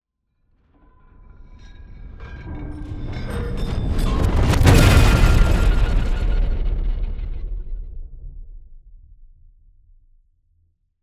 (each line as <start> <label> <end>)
4.3 boom 8.8
4.5 Riser Hit 8.0